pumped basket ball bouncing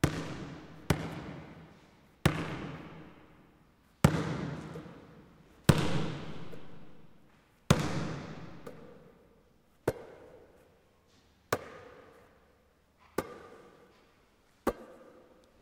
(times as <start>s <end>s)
0.0s 1.5s, 2.2s 3.2s, 4.0s 5.0s, 5.7s 7.0s, 7.7s 9.0s